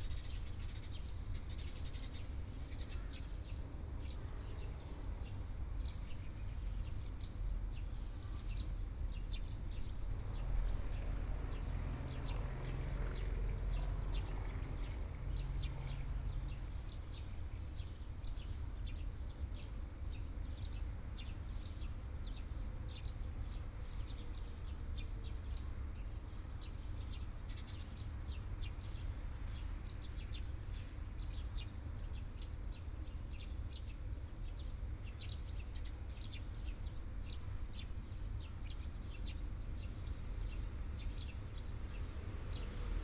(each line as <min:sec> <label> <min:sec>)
0:00.0 Traffic Sound 0:17.6
0:36.7 Traffic Sound 0:43.0